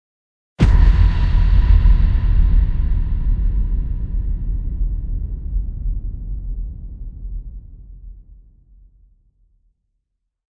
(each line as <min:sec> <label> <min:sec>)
0:00.6 impact 0:08.7